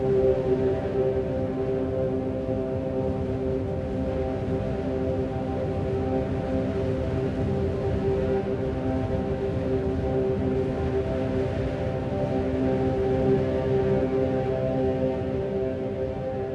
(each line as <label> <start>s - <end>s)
wind 0.0s - 16.5s